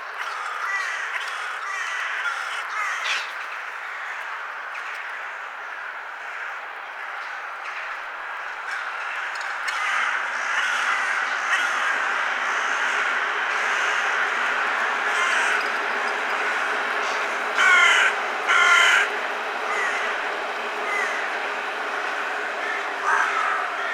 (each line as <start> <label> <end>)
0.2 CROWS 20.2
6.8 BIRDSONG 23.9
20.8 CROWS 21.3
22.0 CROWS 23.9